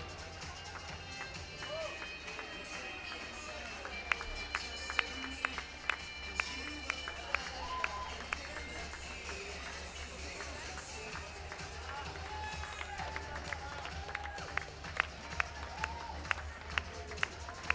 Cheers 0.0 - 17.7

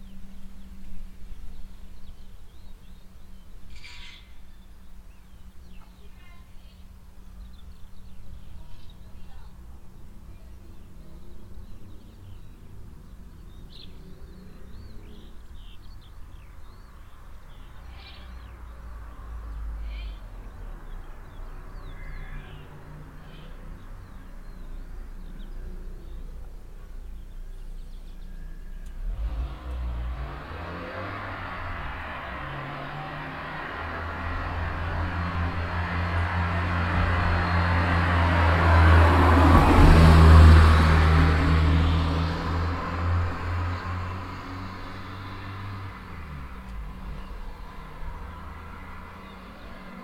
birds 0.0 - 50.0
car vanishing in the valley 27.8 - 50.0

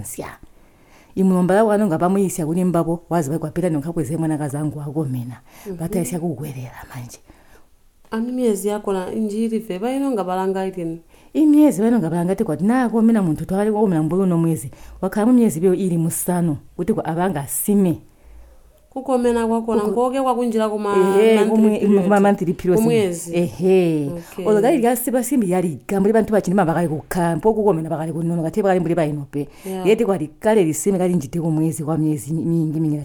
conversation 0.0 - 33.0

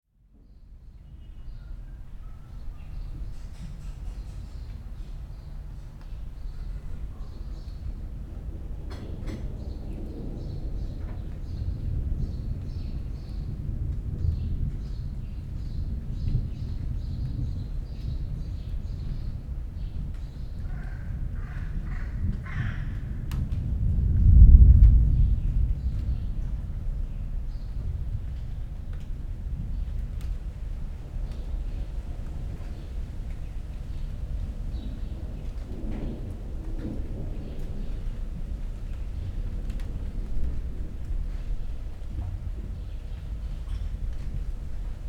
thunderstorm approaching 4.8 - 45.0
wind rising 21.2 - 45.0
first raindrops falling 21.5 - 45.0

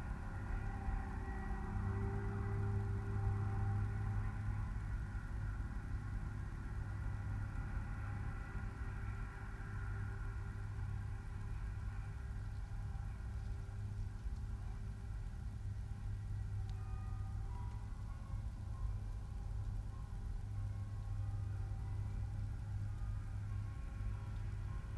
Railway work hum 0.0 - 24.9

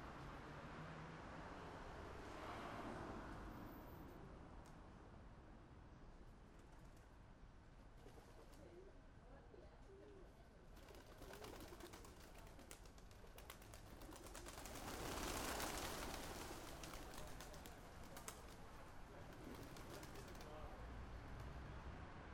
Pigeons Invasion 10.8 - 20.6

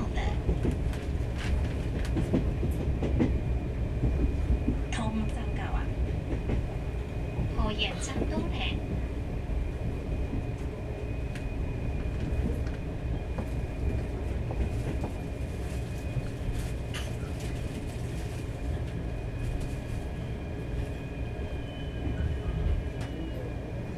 On the train 0.0 - 23.9

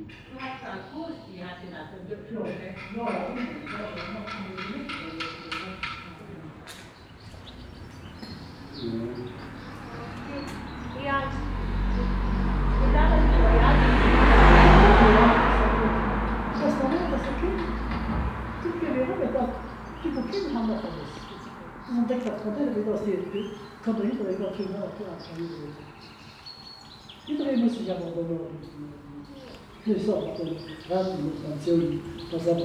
birds 0.0 - 32.6
group of local citizen talking 0.0 - 32.6
passing by traffic 0.0 - 32.6

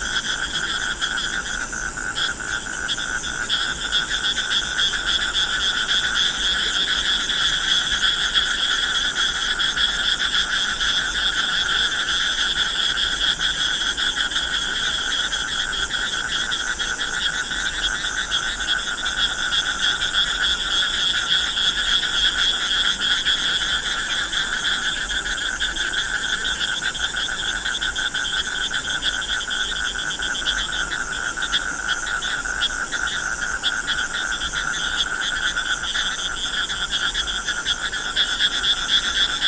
frogs 0.0 - 39.4

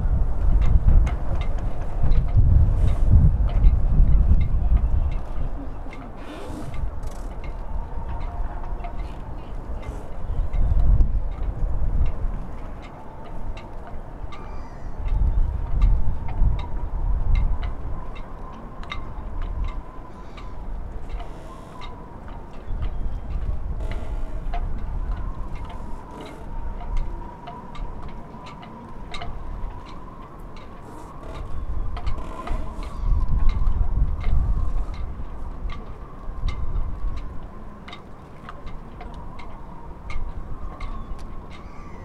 Moderate wind 0.0 - 42.0
walking people 0.0 - 42.0
seagulls 14.3 - 15.1
seagulls 40.8 - 42.0

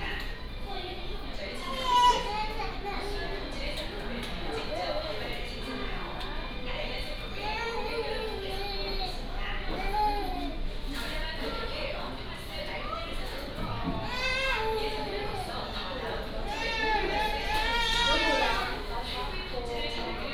Crying children 1.6 - 3.3
Crying children 14.0 - 15.6
Crying children 16.4 - 18.8

